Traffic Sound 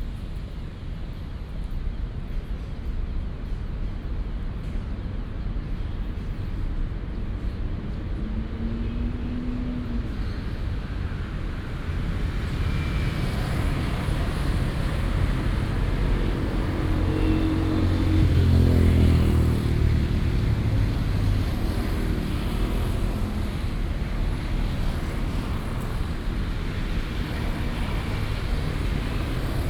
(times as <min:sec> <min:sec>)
0:06.8 0:29.6